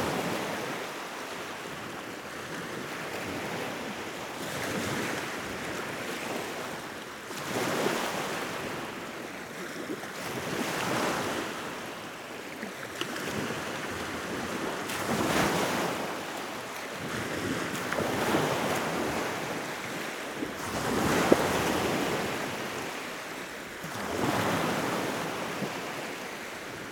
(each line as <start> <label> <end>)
0.0 Waves 26.9